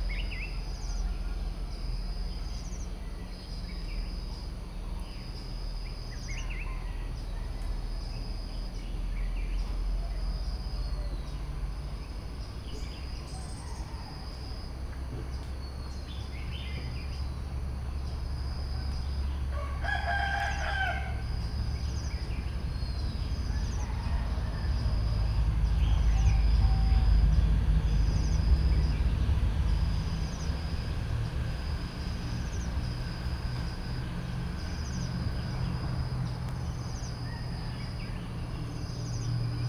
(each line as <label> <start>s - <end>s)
Crickets 0.0s - 39.6s
cicadas 0.0s - 39.6s
birds 18.0s - 29.4s
birds 34.6s - 39.6s